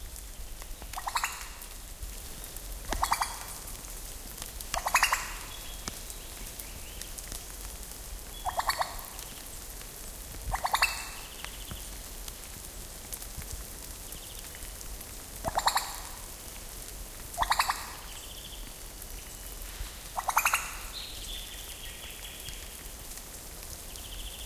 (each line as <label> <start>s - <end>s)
Superb Lyrebird 1.0s - 1.6s
Superb Lyrebird 2.9s - 3.6s
Superb Lyrebird 4.8s - 5.8s
Superb Lyrebird 8.4s - 9.3s
Superb Lyrebird 10.5s - 11.4s
Superb Lyrebird 15.5s - 16.1s
Superb Lyrebird 17.4s - 18.1s
Superb Lyrebird 20.1s - 21.7s